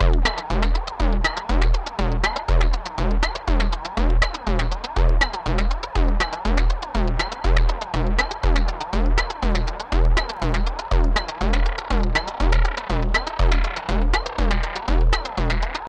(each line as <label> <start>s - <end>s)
Percussion 0.0s - 15.8s